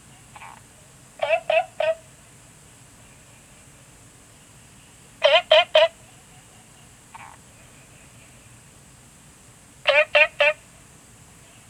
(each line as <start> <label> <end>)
9.8 Frogs chirping 10.7